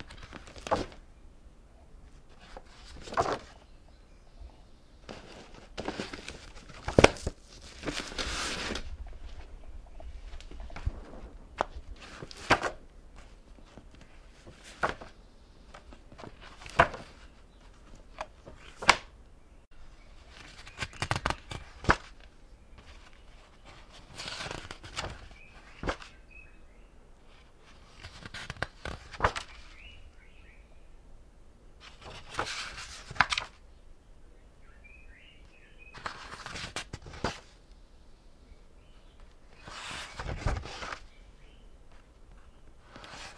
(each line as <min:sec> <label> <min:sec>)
0:00.0 Turning book pages 0:01.0
0:02.2 Turning book pages 0:03.6
0:05.0 Turning book pages 0:09.6
0:10.2 Turning book pages 0:19.1
0:20.2 Turning book pages 0:26.2
0:27.3 Turning book pages 0:29.9
0:31.8 Turning book pages 0:33.6
0:35.9 Turning book pages 0:37.6
0:39.5 Turning book pages 0:41.1
0:41.9 Turning book pages 0:43.3